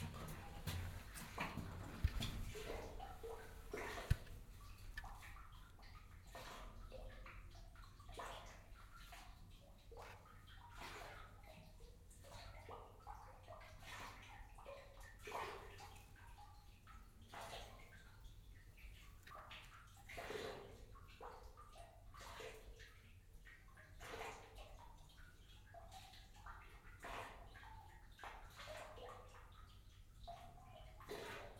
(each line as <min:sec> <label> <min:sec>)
0:00.0 walk through the narrow tunnel 0:04.6